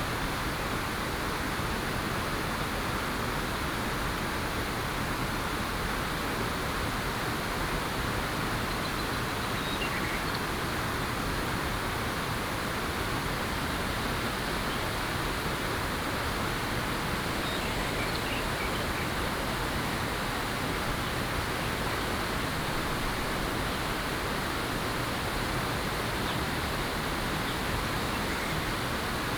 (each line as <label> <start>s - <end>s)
Stream 0.0s - 29.3s